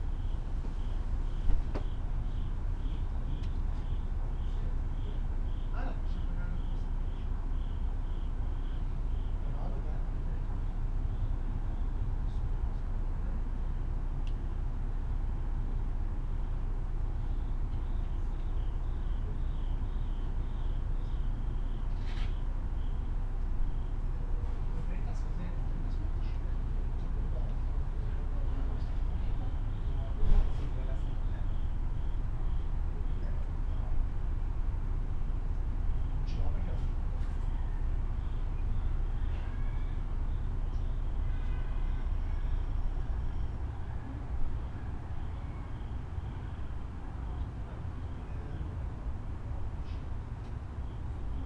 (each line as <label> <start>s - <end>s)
bicyclist outside 0.0s - 51.4s
italian neighbors 0.0s - 51.4s
night crickets 0.0s - 51.4s
passers by 26.4s - 51.4s